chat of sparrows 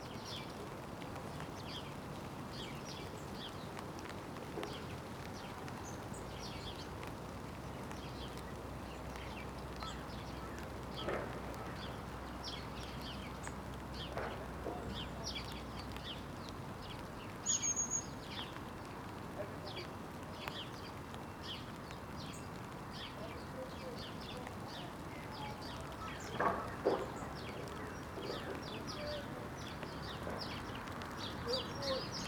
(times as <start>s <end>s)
9.1s 16.2s, 19.3s 20.9s, 22.9s 32.2s